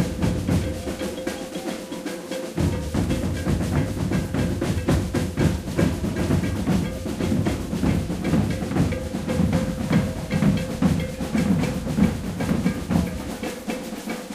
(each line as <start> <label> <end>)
0.0 alfaia 14.3
0.0 caixa 14.3
0.0 dancing 14.3
0.0 ganza 14.3